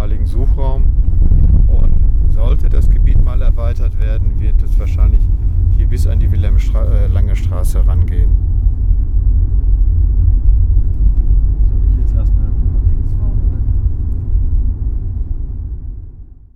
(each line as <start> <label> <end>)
0.0 Driving a dirt road 16.1
0.0 motorway 16.5